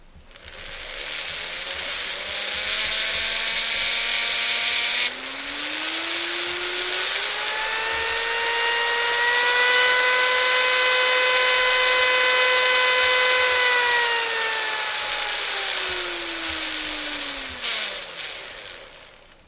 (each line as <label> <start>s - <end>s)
rotary tool being turned on and revved up and down 0.2s - 19.4s